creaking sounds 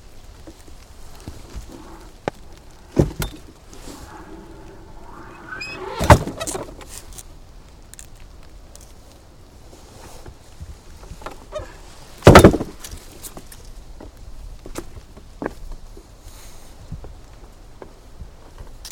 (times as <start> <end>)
1.0 7.2